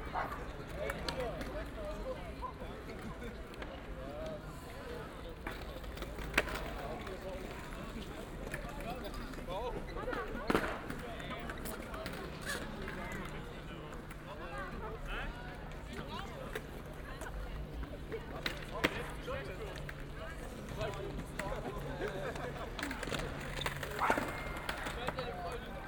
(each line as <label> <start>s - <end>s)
skater 18.4s - 25.8s